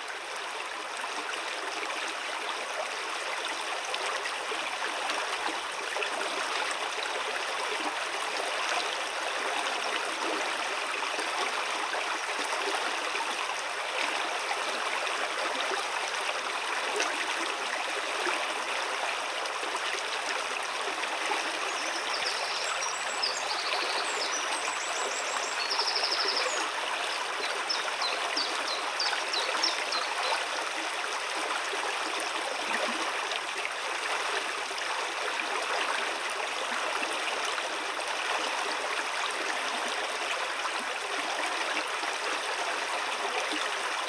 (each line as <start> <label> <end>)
0.0 river 44.0